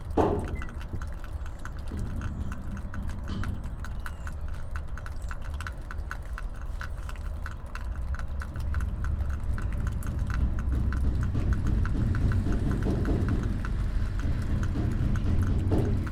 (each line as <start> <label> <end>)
0.1 doors are opened and closed 1.1